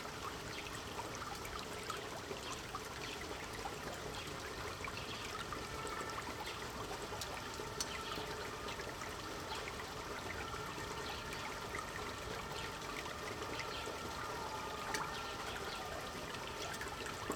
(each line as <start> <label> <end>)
0.0 open canal at street level, clean water 17.3